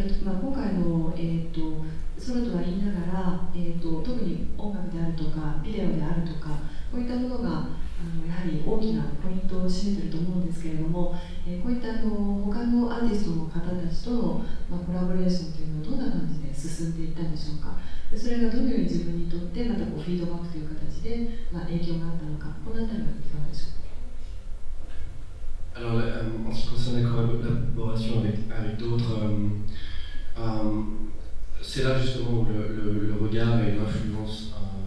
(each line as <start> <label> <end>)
0.0 female japanese translator translating 23.8